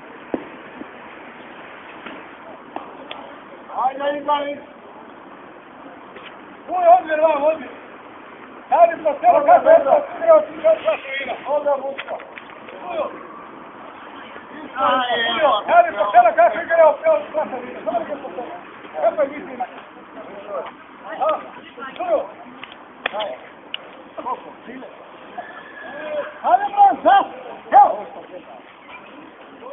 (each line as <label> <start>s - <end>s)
shouting and hollering 8.6s - 12.0s
shouting and hollering 12.7s - 22.4s
shouting and hollering 24.2s - 29.7s